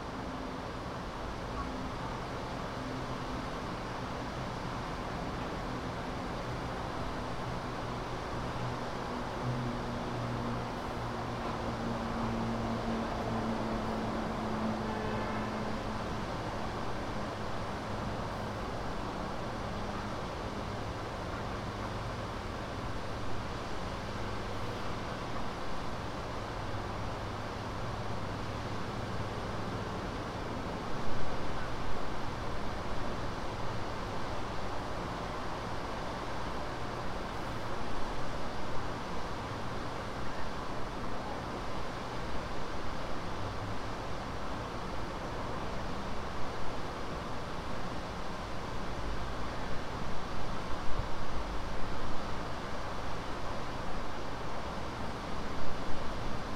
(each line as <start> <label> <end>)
0.0 subtle wind sounds 56.5